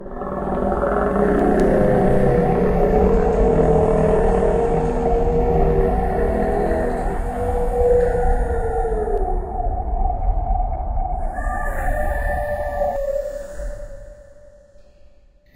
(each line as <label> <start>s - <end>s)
roar for a Kaiju style creature 11.1s - 14.5s